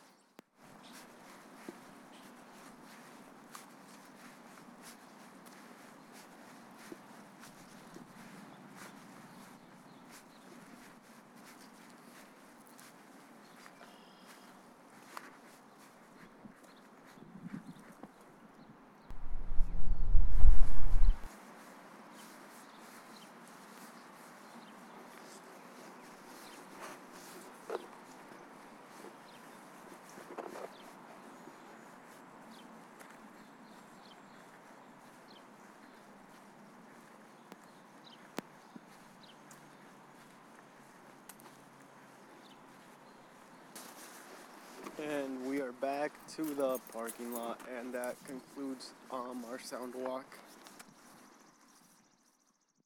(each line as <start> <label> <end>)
0.0 chirping of birds 3.2
0.7 dogs walking 19.8
4.0 chirping of birds 19.2
14.9 small amount of wind seepage 45.2
22.1 chirping of birds 45.7
22.2 dogs walking 52.1
46.4 chirping of birds 52.8